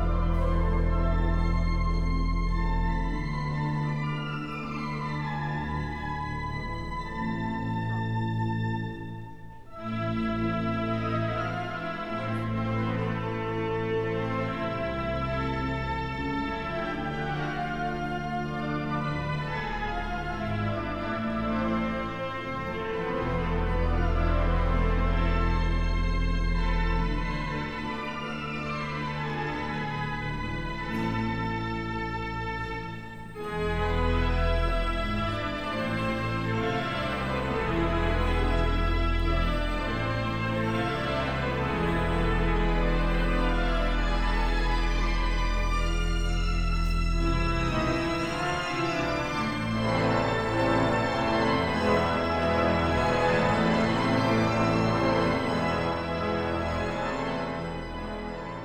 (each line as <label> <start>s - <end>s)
concert in church 0.0s - 58.6s
grand organ 0.0s - 58.6s